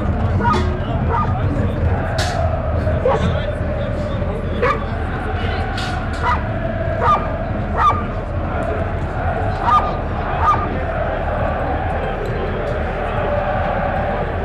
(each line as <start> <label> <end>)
0.0 fans chanting 14.4
0.0 voice of the security guards, police 14.4
0.0 voice of the stadium speaker 14.4
0.2 dogs 3.6
4.5 dogs 5.1
5.9 dogs 8.2
9.4 dogs 11.6